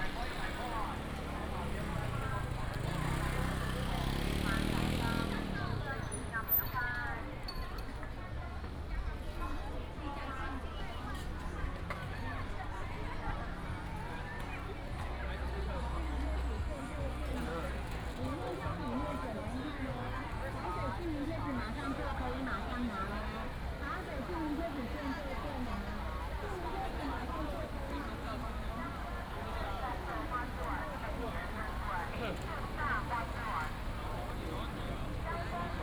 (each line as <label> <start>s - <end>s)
Walking on the road 8.0s - 35.8s